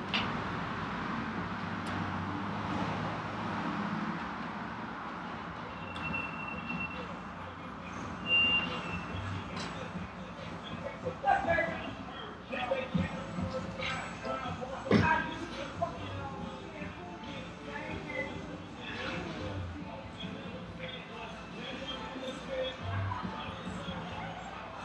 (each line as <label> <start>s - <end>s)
bicycles 0.0s - 24.8s
cars 0.0s - 24.8s
conversation 9.2s - 20.6s